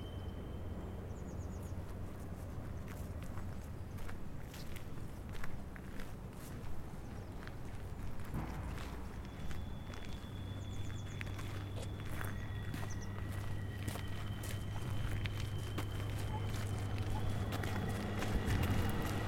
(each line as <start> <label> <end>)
8.4 Bernina Express 19.2